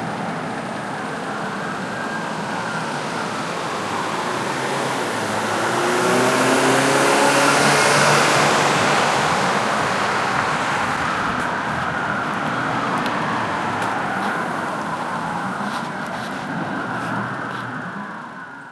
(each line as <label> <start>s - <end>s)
revving 4.6s - 11.1s